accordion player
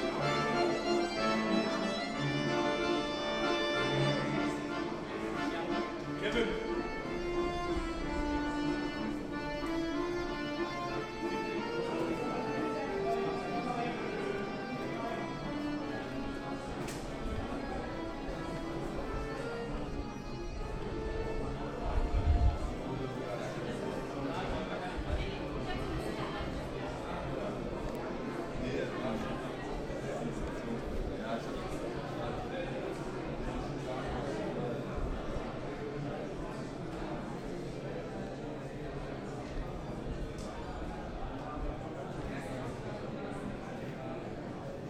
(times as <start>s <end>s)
0.0s 28.0s